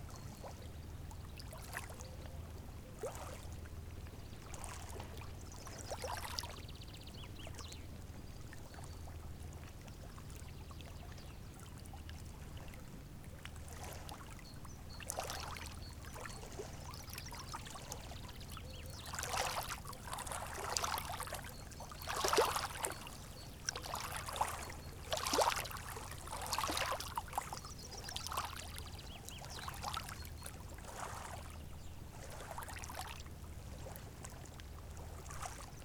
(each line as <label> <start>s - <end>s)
water gently touches the shoreline 0.0s - 35.8s